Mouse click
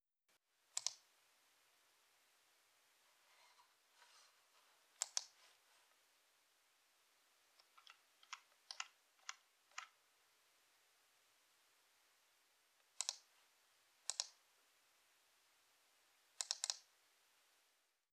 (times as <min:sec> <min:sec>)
0:00.8 0:01.0, 0:05.0 0:05.4, 0:12.9 0:13.3, 0:14.1 0:14.4, 0:16.4 0:16.9